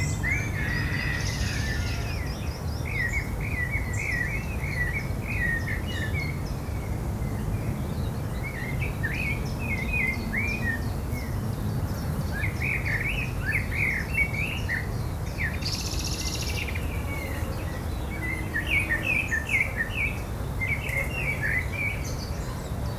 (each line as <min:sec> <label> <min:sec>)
0:00.0 birds 0:22.9